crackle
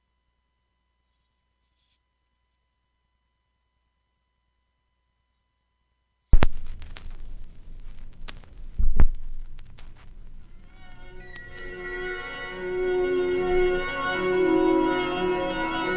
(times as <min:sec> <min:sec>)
0:06.3 0:15.9